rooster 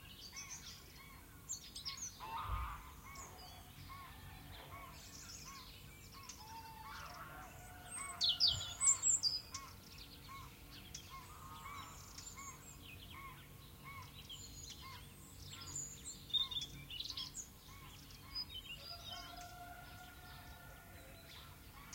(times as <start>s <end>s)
18.9s 21.6s